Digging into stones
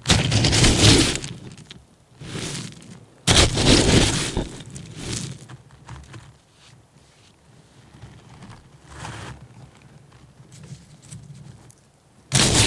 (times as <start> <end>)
0.0 6.1, 12.3 12.6